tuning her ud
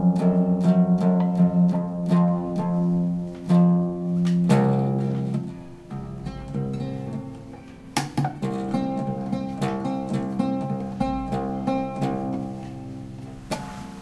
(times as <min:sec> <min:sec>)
0:05.3 0:13.3